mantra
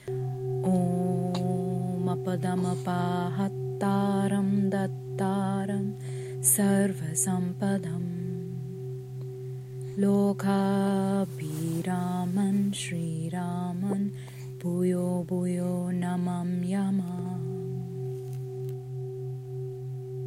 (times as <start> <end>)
0.6 8.8, 10.0 17.9